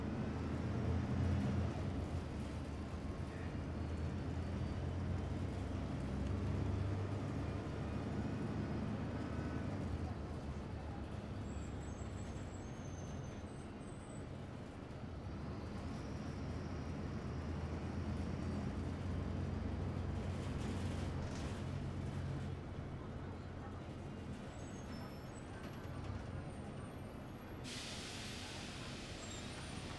Bus 0.0 - 29.9

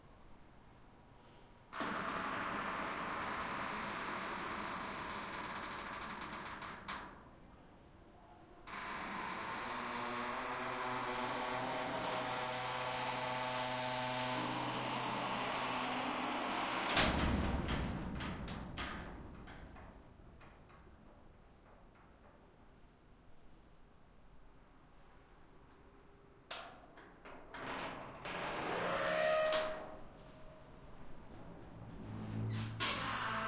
closing and opening metal door 14.1 - 20.1
closing and opening metal door 26.6 - 30.1
closing and opening metal door 32.0 - 33.4

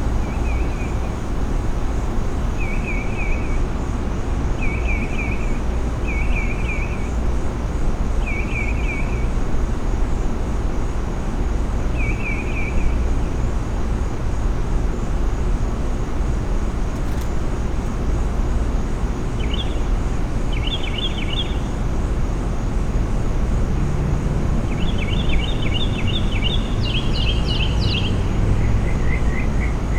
crickets 0.0 - 29.9
distant passing traffic 16.6 - 29.9
birds 16.9 - 22.3
birds 24.5 - 29.9

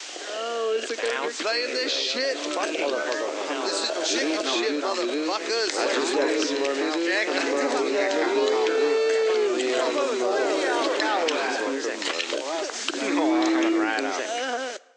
two people 0.2 - 14.8

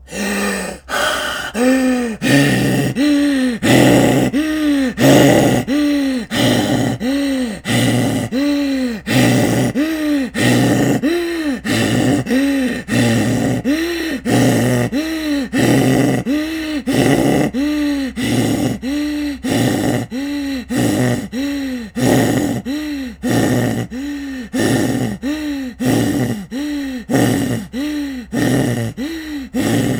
Hyperventillating, Crazed Man 0.0 - 29.9
gasp 0.0 - 29.9

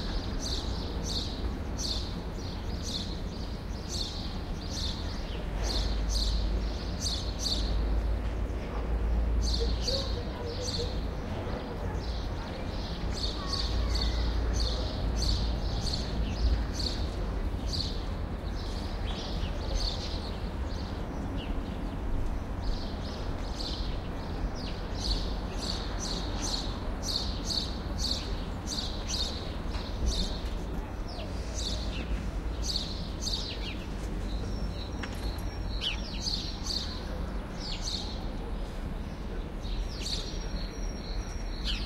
sparrows 0.0 - 41.8

